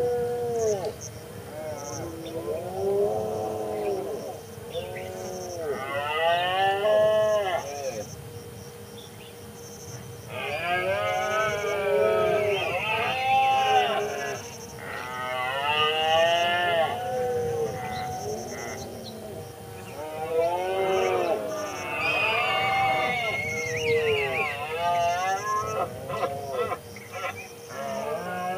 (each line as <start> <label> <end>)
0.0 insects 28.5
17.4 bird calls 28.1